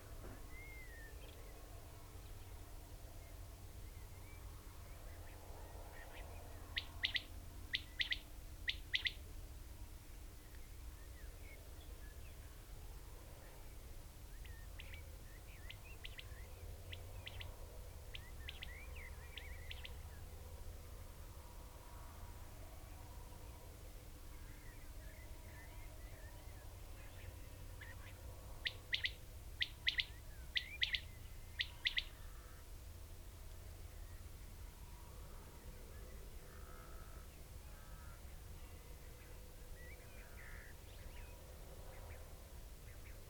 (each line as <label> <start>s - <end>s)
blackbird 6.0s - 9.2s
grey partridge 6.8s - 9.2s
red-legged partridge 6.8s - 9.2s
blackbird 27.0s - 32.6s
grey partridge 27.8s - 32.6s
red-legged partridge 27.8s - 32.6s
Quails calling 28.6s - 31.0s